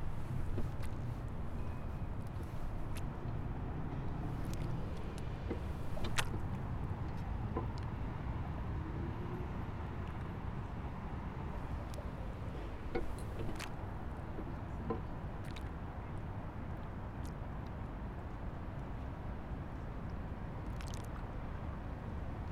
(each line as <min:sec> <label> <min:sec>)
0:00.0 traffic 0:22.5
0:00.0 water 0:22.5
0:00.0 wind 0:22.5